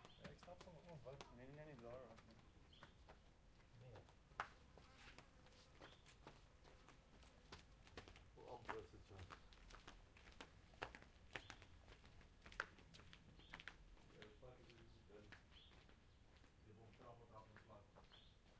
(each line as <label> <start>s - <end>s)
two people walking around outdoors 0.0s - 18.5s
talking to each other 0.2s - 2.6s